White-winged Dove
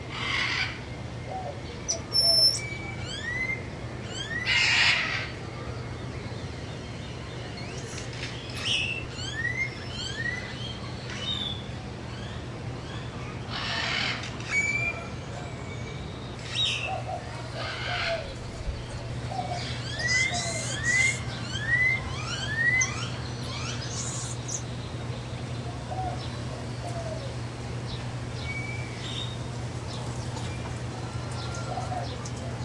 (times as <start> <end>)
16.5 23.8, 25.6 27.5, 29.8 32.6